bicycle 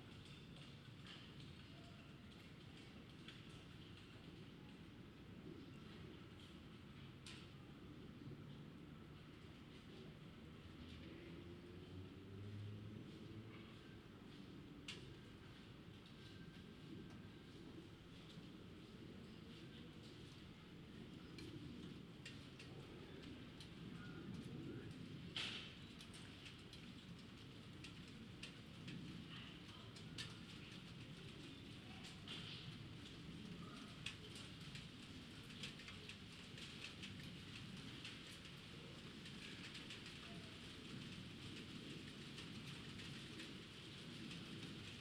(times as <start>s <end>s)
9.2s 45.0s